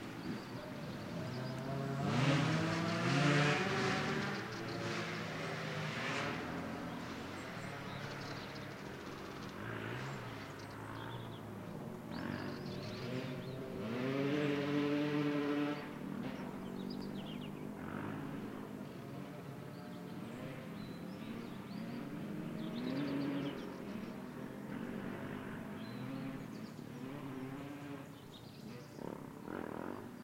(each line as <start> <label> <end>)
0.0 bikes on a dirt road 30.2
0.0 birds 30.2